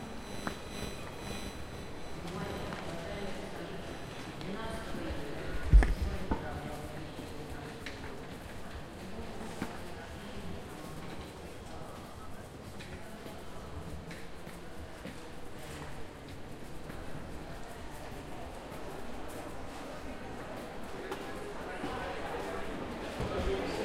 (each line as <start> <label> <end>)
0.0 X-ray machine 4.6
0.0 Station announcements 6.5